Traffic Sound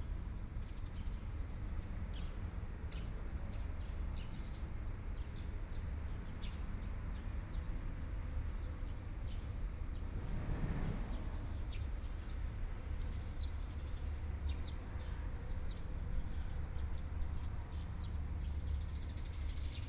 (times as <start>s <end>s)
9.5s 19.6s